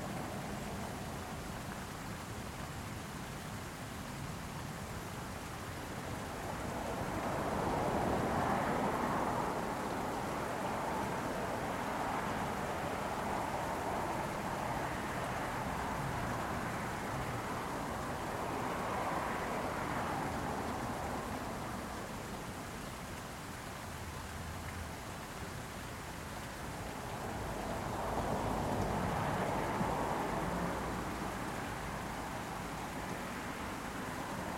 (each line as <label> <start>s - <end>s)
Headwaters 0.0s - 34.5s